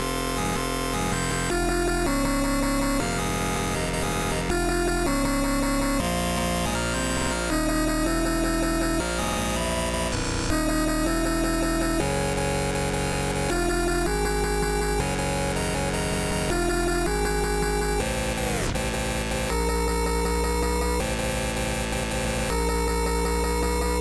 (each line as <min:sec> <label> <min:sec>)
0:01.0 wobble basses 0:24.0